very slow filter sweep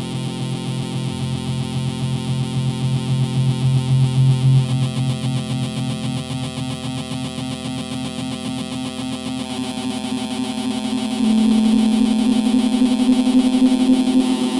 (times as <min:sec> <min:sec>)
0:10.4 0:14.5